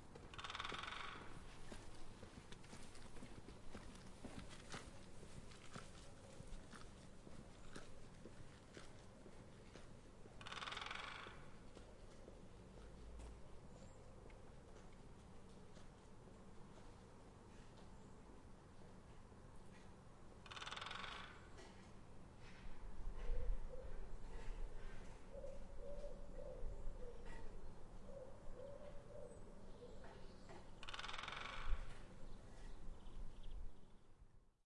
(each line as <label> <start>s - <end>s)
woodpecker hammering on antenna 0.3s - 1.3s
woodpecker hammering on antenna 10.4s - 11.5s
woodpecker hammering on antenna 20.4s - 21.4s
woodpecker hammering on antenna 30.8s - 31.9s